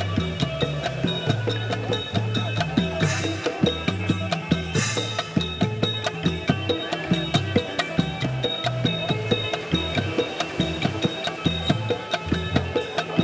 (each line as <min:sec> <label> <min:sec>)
0:00.0 Surf 0:13.2
0:00.0 band 0:13.2